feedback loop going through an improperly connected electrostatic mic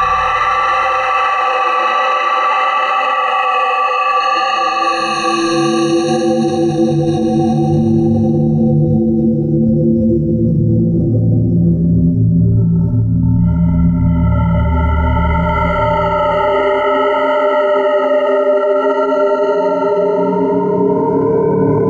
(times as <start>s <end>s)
0.0s 1.3s